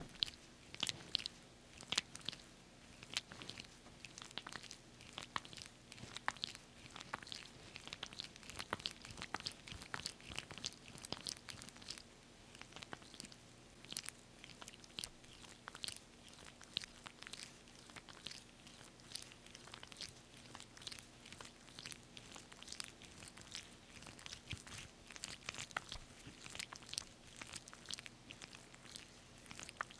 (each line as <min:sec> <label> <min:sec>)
0:00.0 Sexual Stroking Sounds, Wet 0:29.9